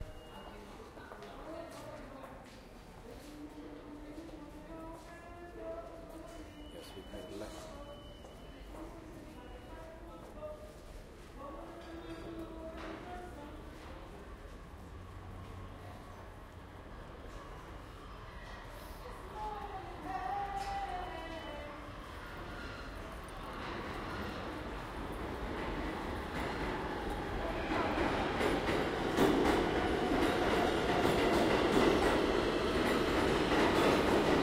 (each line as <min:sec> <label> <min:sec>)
0:13.8 train approach 0:34.4
0:19.0 singer or busker 0:22.1